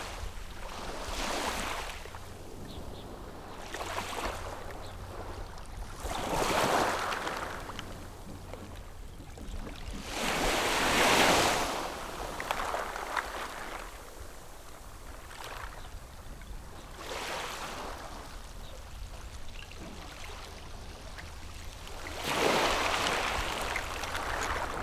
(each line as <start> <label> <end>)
0.0 waves 24.8
2.1 Birds singing 5.8